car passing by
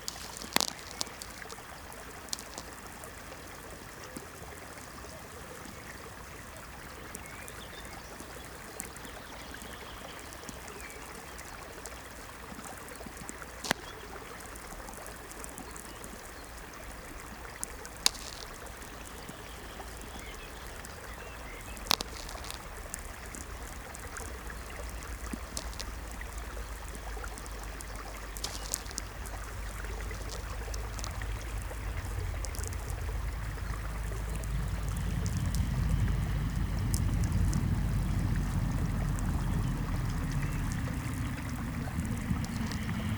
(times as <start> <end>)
28.8 43.1